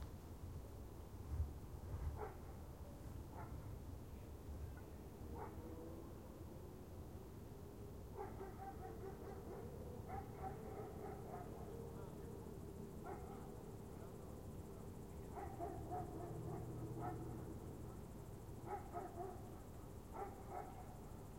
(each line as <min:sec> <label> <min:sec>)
0:02.1 Distant dogs 0:03.8
0:04.7 Distant dogs 0:06.2
0:08.0 Distant dogs 0:21.3